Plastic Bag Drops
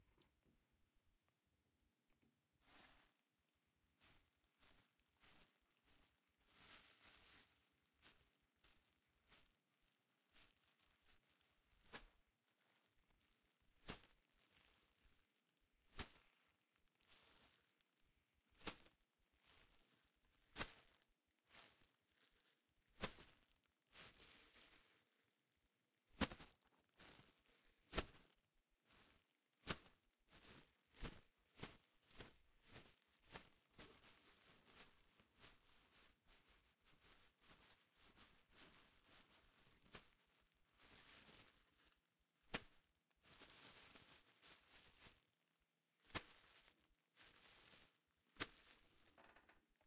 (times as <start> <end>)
48.4 49.8